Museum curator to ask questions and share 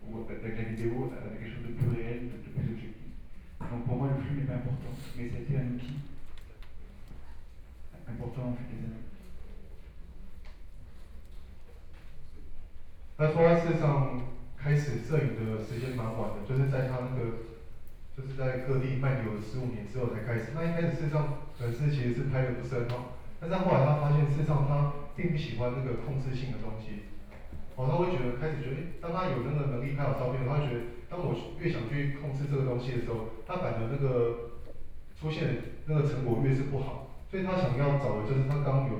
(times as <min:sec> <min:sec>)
0:13.2 0:38.9